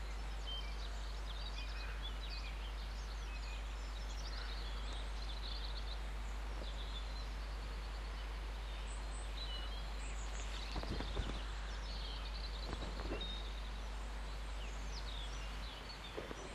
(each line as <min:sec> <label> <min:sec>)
0:00.0 birds singing 0:16.5
0:00.0 low hum is from the electricity pylons 0:16.5